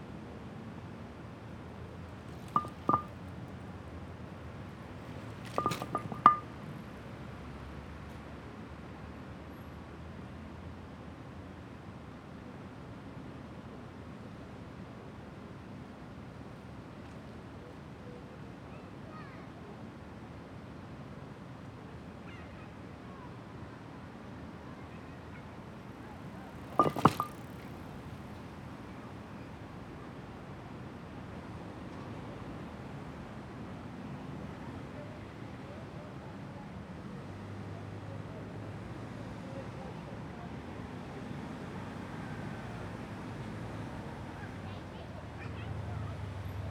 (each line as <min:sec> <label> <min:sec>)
0:01.9 Loose paving slab in the bicycle lane 0:03.3
0:04.6 Loose paving slab in the bicycle lane 0:06.6
0:26.2 Loose paving slab in the bicycle lane 0:28.3